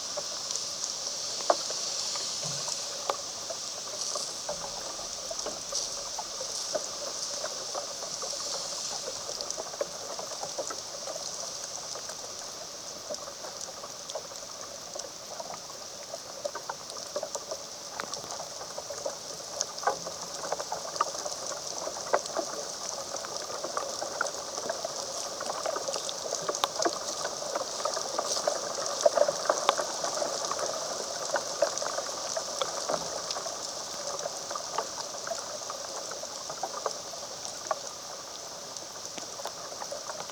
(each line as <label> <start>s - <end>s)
rain falling on the branches of a large oak tree 0.0s - 40.3s